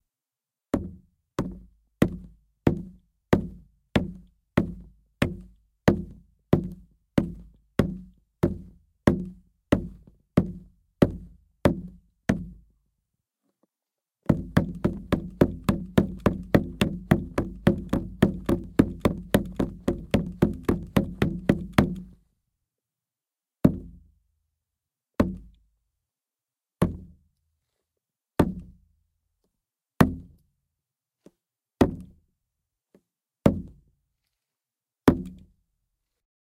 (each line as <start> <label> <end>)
0.8 pounding boots on a five-gallon plastic jug of water 12.7
14.2 pounding boots on a five-gallon plastic jug of water 22.2
23.6 pounding boots on a five-gallon plastic jug of water 24.0
25.2 pounding boots on a five-gallon plastic jug of water 25.5
26.8 pounding boots on a five-gallon plastic jug of water 27.2
28.4 pounding boots on a five-gallon plastic jug of water 28.8
30.0 pounding boots on a five-gallon plastic jug of water 30.4
31.8 pounding boots on a five-gallon plastic jug of water 32.2
33.5 pounding boots on a five-gallon plastic jug of water 33.8
35.1 pounding boots on a five-gallon plastic jug of water 35.5